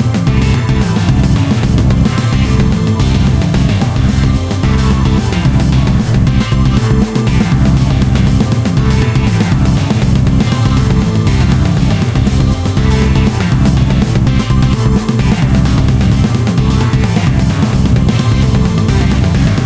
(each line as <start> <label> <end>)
0.0 Drums 19.6
0.0 Synths 19.6